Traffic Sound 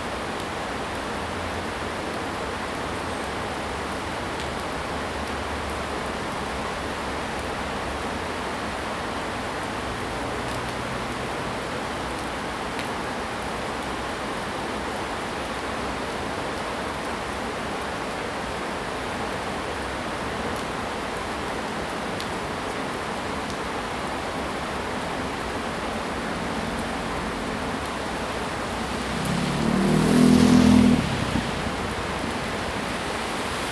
0:23.0 0:33.7

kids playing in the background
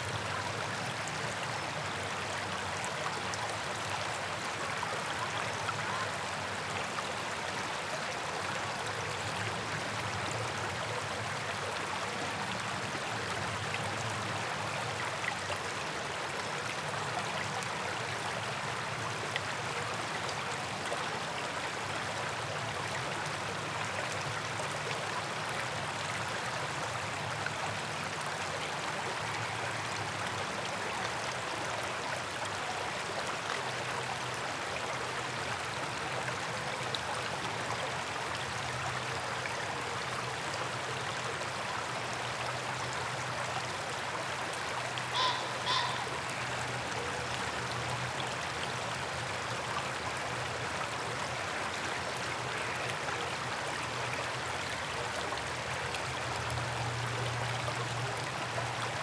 0:45.2 0:46.3

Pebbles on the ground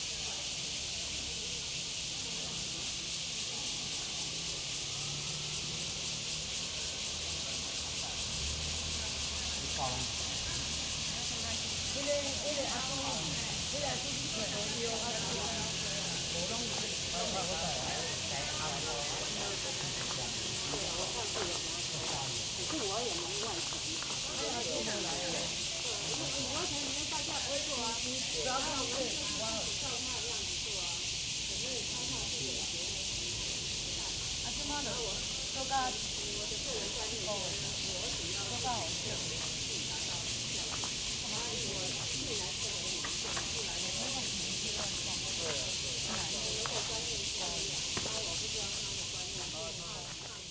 0:17.0 0:27.0, 0:37.4 0:50.5

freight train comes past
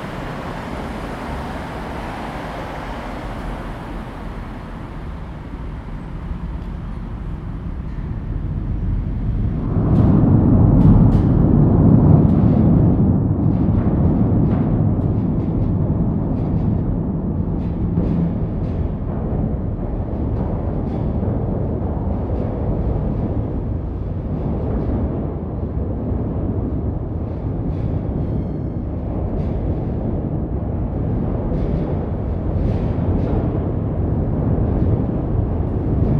0:00.0 0:09.7

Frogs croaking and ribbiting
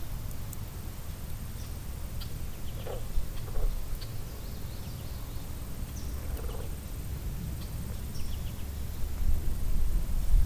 0:02.2 0:04.3, 0:06.0 0:07.1

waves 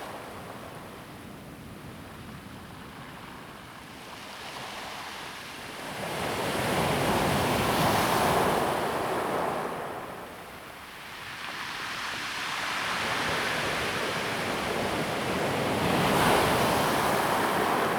0:11.2 0:17.9

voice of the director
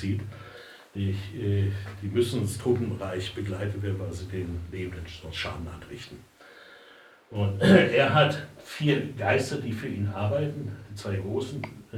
0:07.3 0:11.9

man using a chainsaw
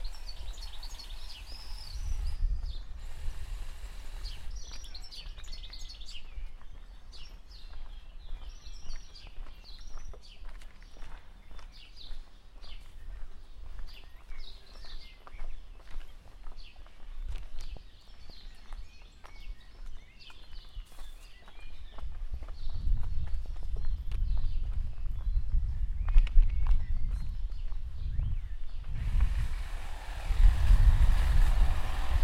0:00.0 0:05.1, 0:29.0 0:32.2

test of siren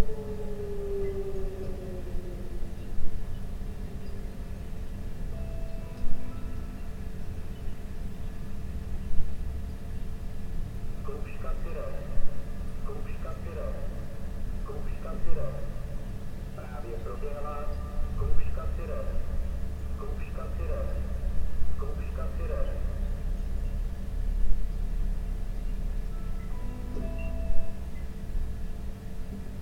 0:00.0 0:03.6

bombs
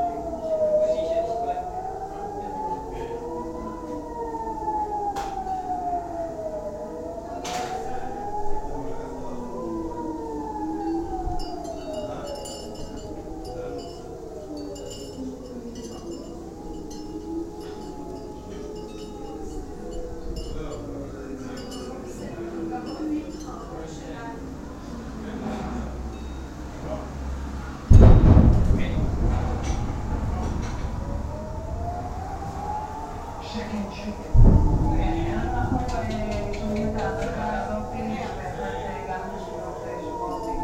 0:27.9 0:31.8

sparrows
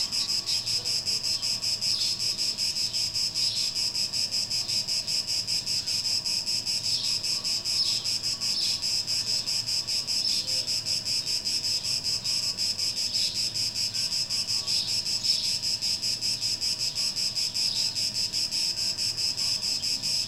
0:00.0 0:03.8, 0:06.8 0:15.6, 0:16.2 0:18.5

